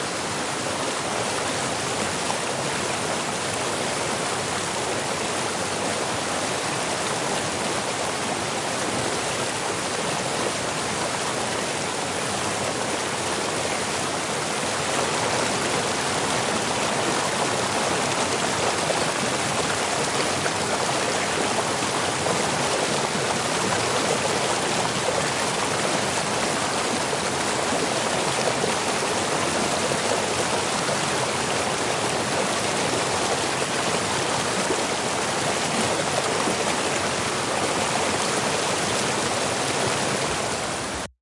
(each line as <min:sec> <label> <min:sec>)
0:00.0 waterfall close vortex 0:41.1